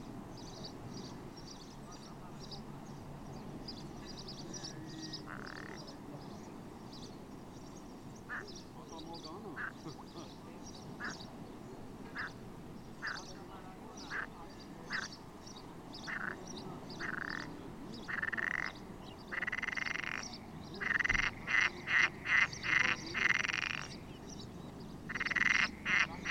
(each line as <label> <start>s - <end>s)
frogs 4.6s - 6.0s
frogs 14.1s - 15.2s
frogs 16.1s - 24.2s
frogs 25.0s - 26.3s